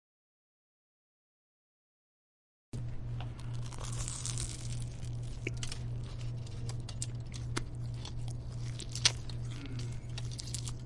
Man chewing a jimmy jons turkey sandwich 3.4 - 10.8

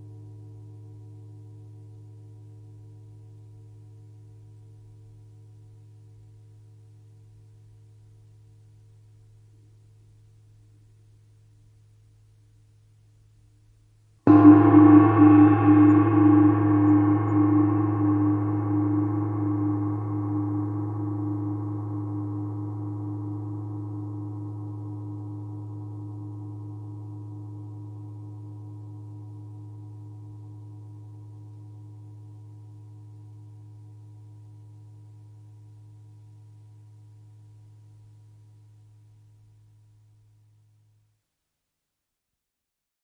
Gong 14.3 - 37.9

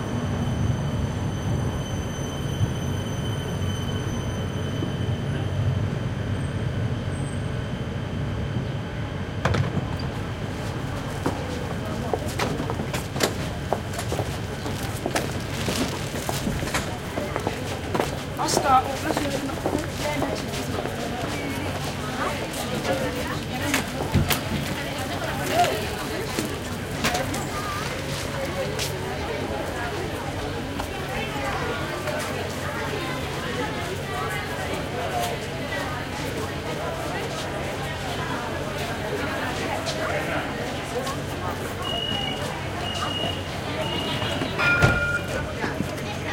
Street noise in background 0.0 - 46.3
tram arriving to platform 0.0 - 46.3
tram car waiting for departure 0.0 - 46.3
Voices 0.1 - 46.3

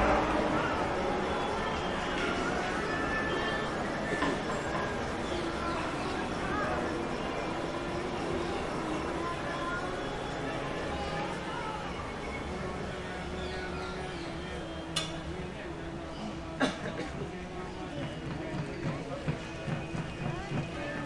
children 0.0 - 14.3
voices 0.0 - 21.0

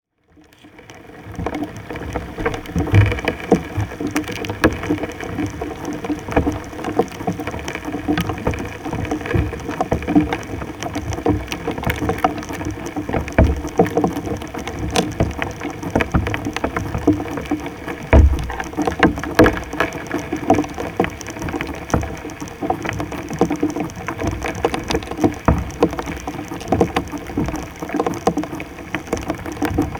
wood fire 0.6 - 22.1

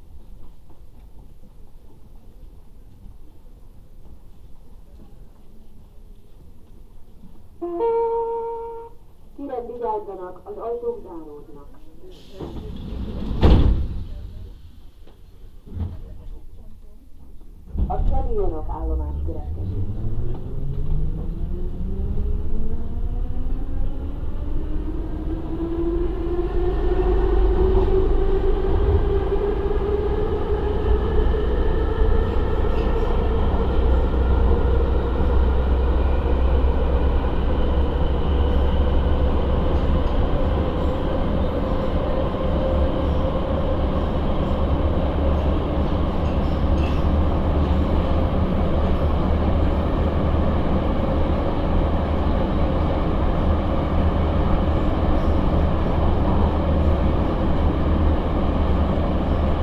metro 0.0 - 59.6

